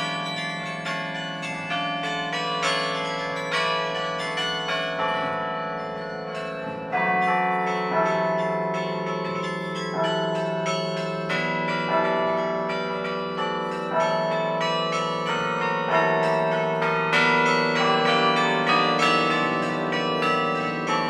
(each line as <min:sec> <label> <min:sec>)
0:00.0 Carillon 0:21.0